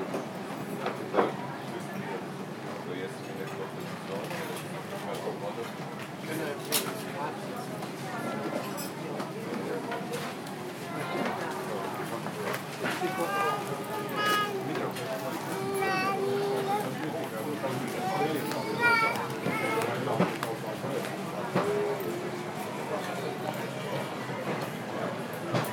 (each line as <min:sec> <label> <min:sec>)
0:00.0 Walking past restaurants 0:25.7
0:00.7 People talking 0:25.7